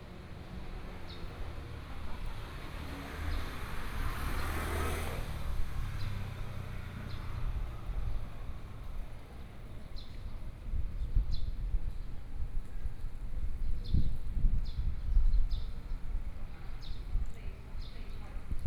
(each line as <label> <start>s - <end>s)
Traffic Sound 0.0s - 10.5s